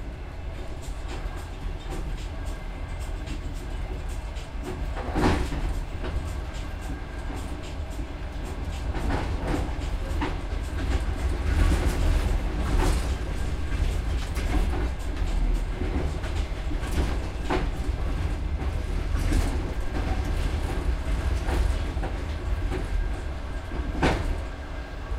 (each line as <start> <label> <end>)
0.0 train 25.1